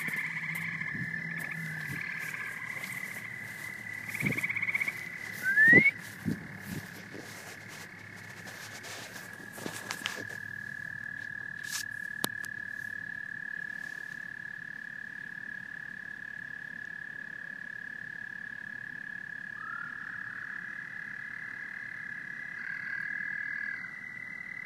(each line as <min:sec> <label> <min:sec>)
0:00.0 frogs 0:24.6
0:00.0 toads keep singing 0:24.6
0:05.4 I clap and whistle 0:06.0